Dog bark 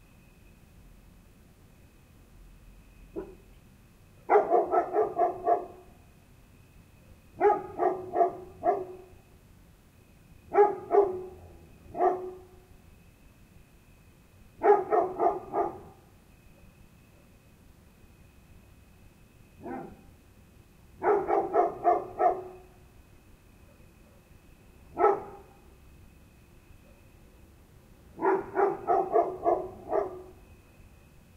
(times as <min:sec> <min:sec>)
0:03.2 0:03.4, 0:04.3 0:05.9, 0:07.4 0:09.1, 0:10.5 0:12.6, 0:14.6 0:16.0, 0:19.6 0:20.1, 0:21.0 0:22.7, 0:24.9 0:25.6, 0:28.2 0:30.4